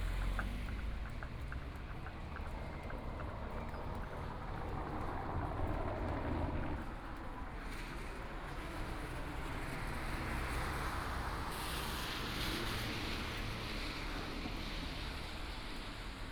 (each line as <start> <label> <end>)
0.0 Traffic Sound 16.3
0.0 walking the streets 16.3